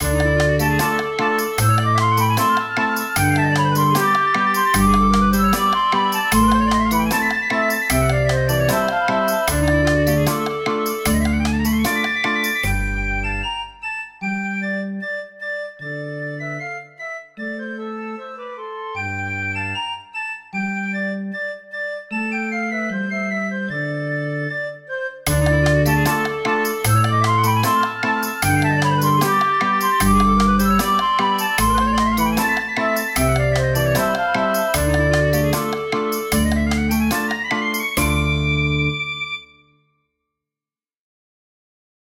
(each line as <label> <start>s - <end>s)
guitar 0.0s - 13.2s
percussion 0.0s - 13.5s
bagpipe 0.0s - 14.6s
piccolo 0.0s - 39.8s
clarinet 0.0s - 39.8s
flute 0.0s - 39.8s
percussion 25.3s - 38.9s
guitar 25.3s - 39.1s
bagpipe 25.3s - 39.6s